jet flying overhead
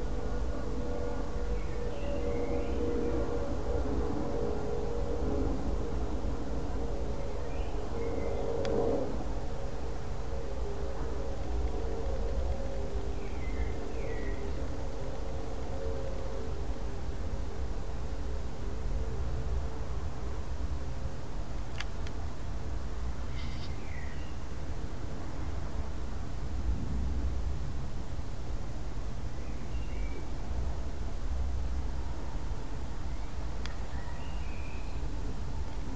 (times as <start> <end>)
0.0 21.1